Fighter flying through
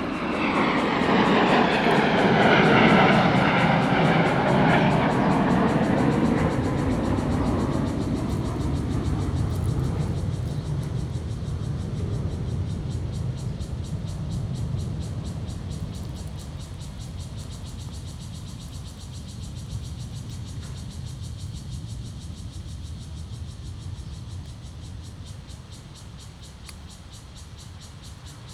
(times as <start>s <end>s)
0.0s 8.2s